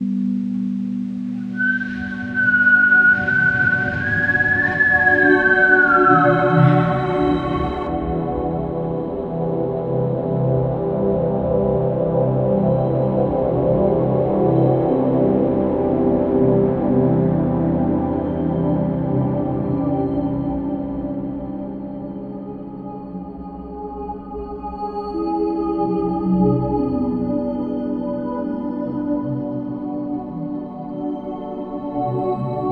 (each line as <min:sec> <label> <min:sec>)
0:00.0 synth sounds 0:08.4
0:01.4 whistled tune 0:08.2